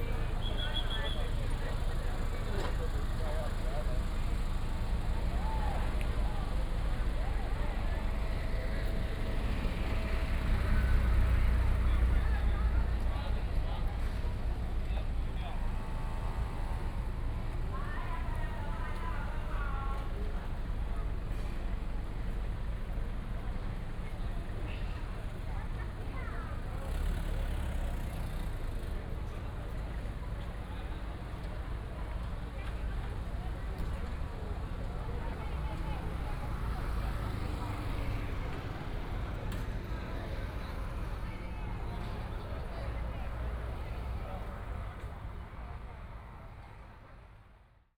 tourists 0.0 - 47.2

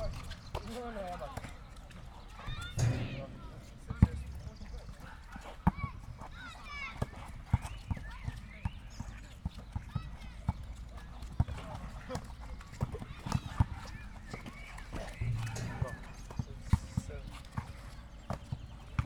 youngsters are playing basketball 0.0 - 19.0

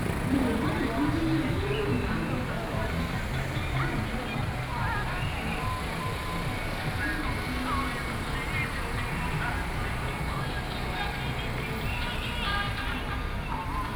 Traffic Sound 0.0 - 13.9

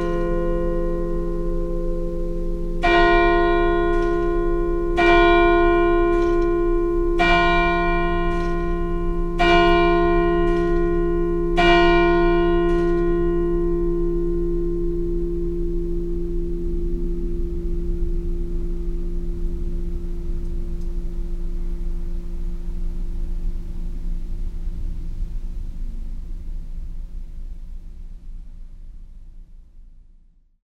bells 0.0 - 22.8

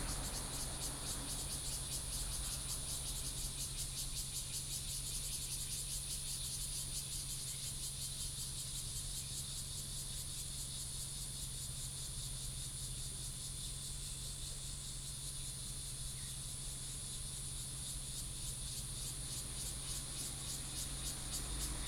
Traffic Sound 0.0 - 3.1
Cicadas sound 0.0 - 8.2
Cicadas sound 16.1 - 21.8
Traffic Sound 20.0 - 21.8

